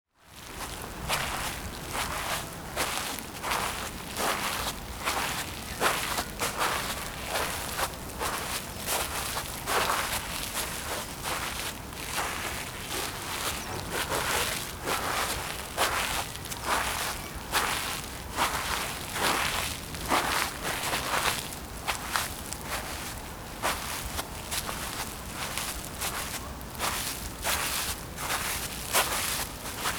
Walking barefoot on thick artificial grass 0.2 - 29.9
birds 10.8 - 19.1

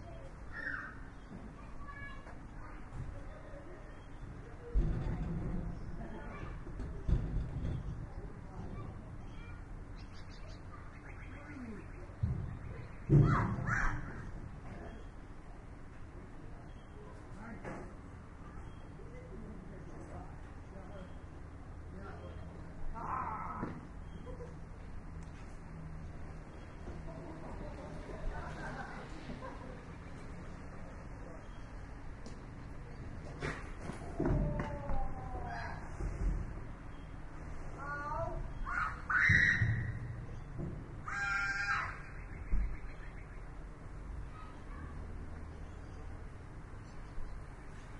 children playing 0.0 - 17.4
children playing 26.2 - 42.8
children playing 43.8 - 46.2

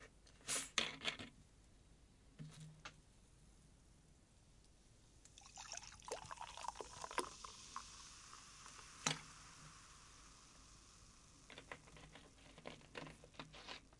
pouring in cooldrink 5.3 - 13.6

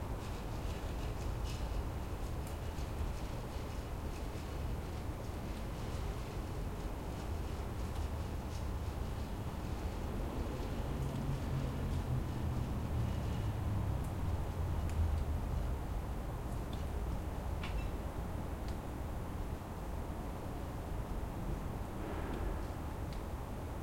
distant traffic 21.4 - 23.8

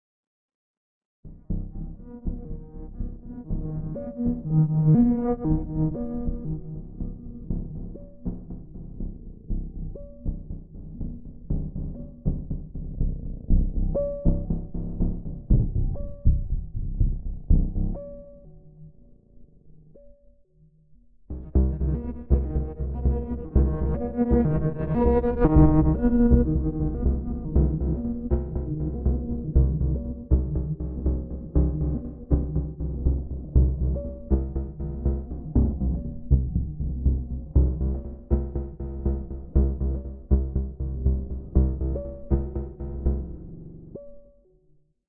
bass drone 1.3 - 18.2
bass drone 21.3 - 44.1

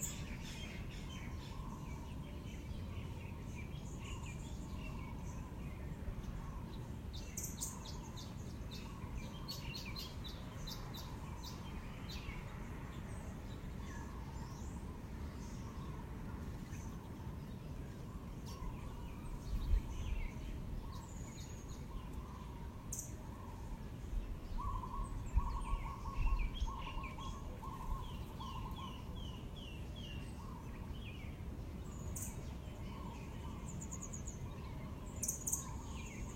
birds in the trees 0.0 - 36.3

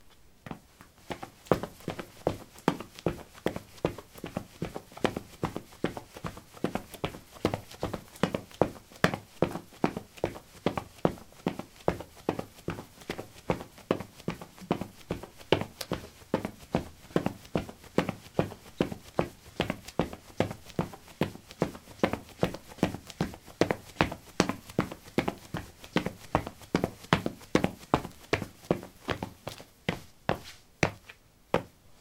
footsteps 12.0 - 31.7

